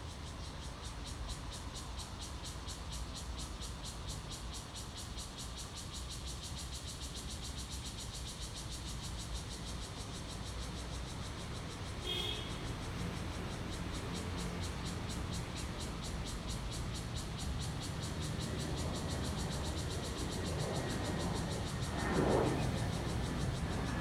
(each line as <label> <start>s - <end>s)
Cicadas sound 0.0s - 24.0s
Traffic Sound 9.5s - 24.0s